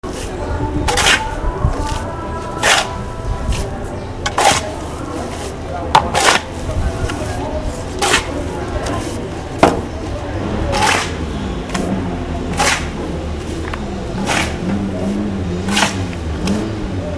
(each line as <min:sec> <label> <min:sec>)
0:00.0 voices 0:17.1
0:00.9 Iron shovel stirring cement with water 0:01.3
0:02.6 Iron shovel stirring cement with water 0:03.0
0:04.3 Iron shovel stirring cement with water 0:06.6
0:08.0 Iron shovel stirring cement with water 0:08.4
0:14.2 Iron shovel stirring cement with water 0:14.6
0:15.7 Iron shovel stirring cement with water 0:16.1